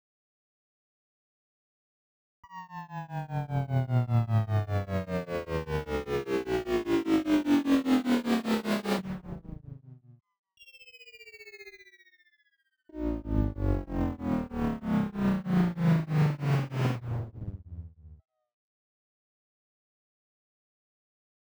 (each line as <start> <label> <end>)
8.0 Beam Device - Descending Wobble 10.0
13.0 Beam Device - Descending Wobble 18.2